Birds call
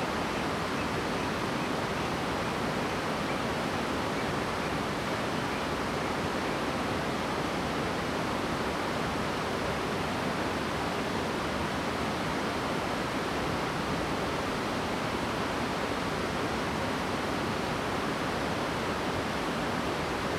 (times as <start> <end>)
0.0 6.2